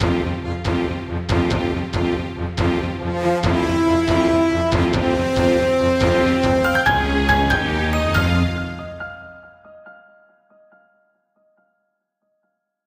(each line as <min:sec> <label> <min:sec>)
0:06.1 jingle 0:09.6